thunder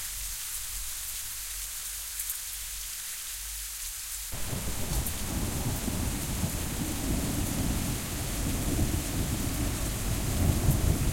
4.4s 11.1s

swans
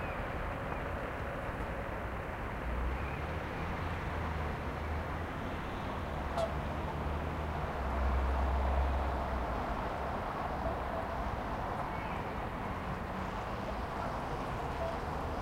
10.4s 12.4s, 13.6s 15.4s

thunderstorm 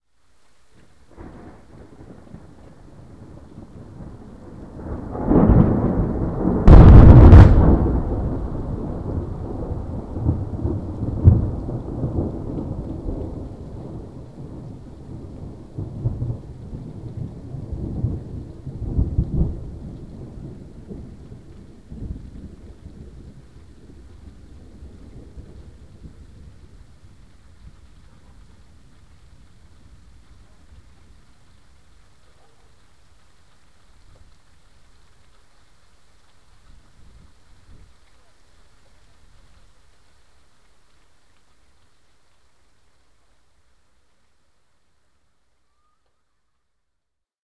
1.1s 31.8s

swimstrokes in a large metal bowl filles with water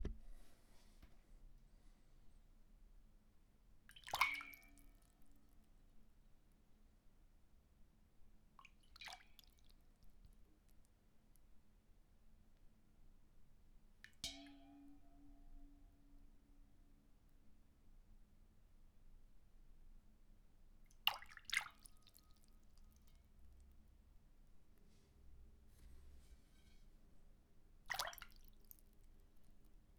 3.8s 5.7s, 8.6s 10.5s, 14.0s 16.4s, 20.9s 24.0s, 27.8s 29.7s

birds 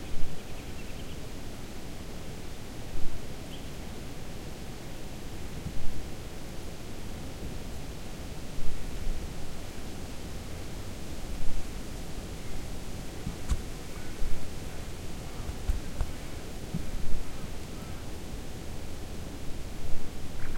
20.4s 20.5s

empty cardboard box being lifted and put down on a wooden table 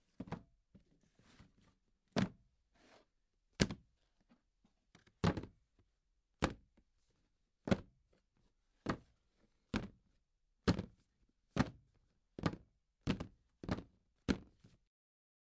0.1s 3.8s

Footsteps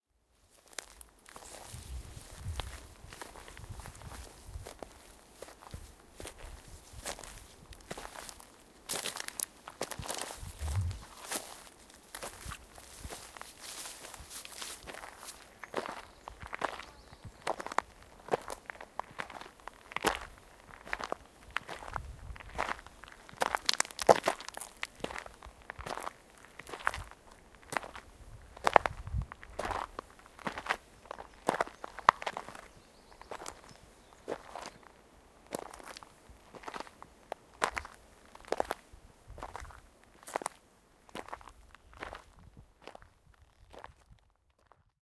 0.8s 16.9s

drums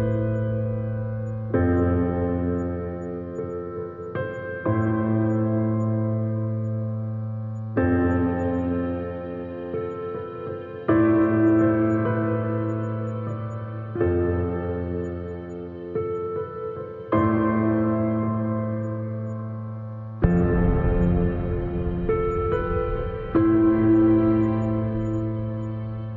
20.2s 25.3s

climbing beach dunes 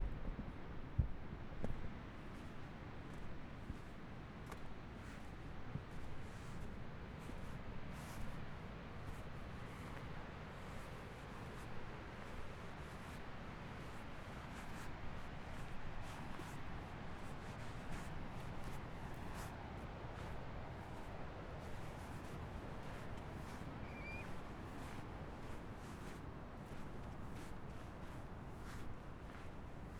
17.3s 29.9s

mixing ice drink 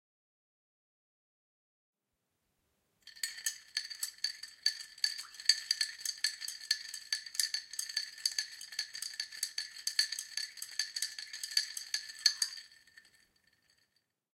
3.1s 13.8s

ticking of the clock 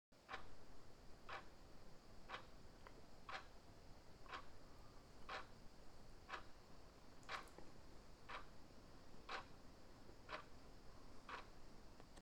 0.3s 0.5s, 1.3s 1.6s, 2.3s 2.5s, 3.3s 3.5s, 4.2s 4.5s, 5.2s 5.5s, 6.3s 6.6s, 7.2s 7.6s, 8.3s 8.5s, 9.3s 9.6s, 10.3s 10.5s, 11.3s 11.5s

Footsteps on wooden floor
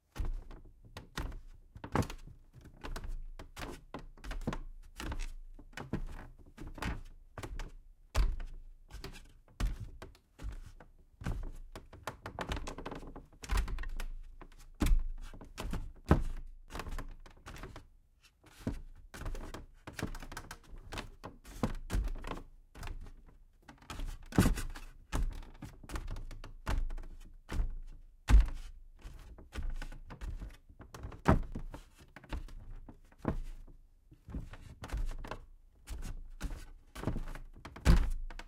27.7s 28.7s

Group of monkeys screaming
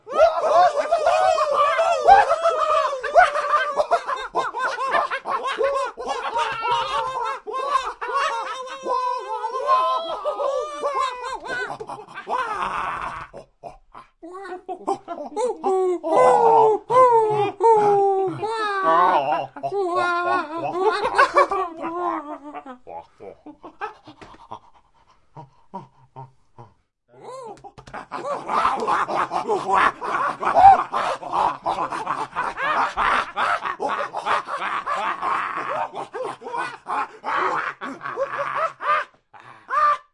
0.0s 13.4s, 28.1s 40.0s

